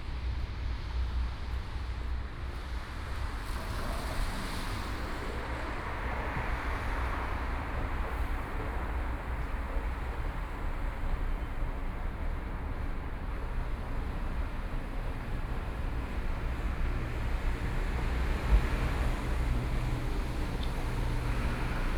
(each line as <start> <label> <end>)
2.2 Traffic Sound 21.9